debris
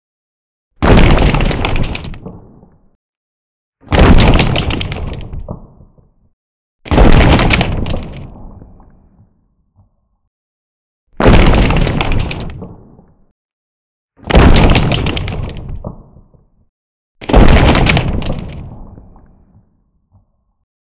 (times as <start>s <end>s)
0.8s 2.4s, 3.9s 5.4s, 6.9s 8.3s, 11.2s 12.7s, 14.3s 15.8s, 17.2s 18.7s